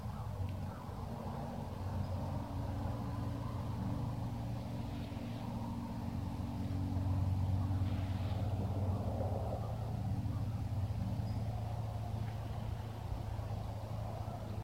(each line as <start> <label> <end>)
0.0 traffic 14.6